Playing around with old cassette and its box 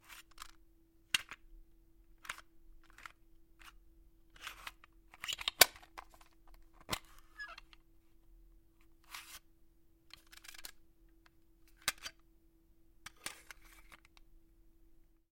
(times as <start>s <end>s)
0.0s 1.4s, 2.1s 7.9s, 8.8s 9.5s, 10.1s 12.3s, 13.0s 14.3s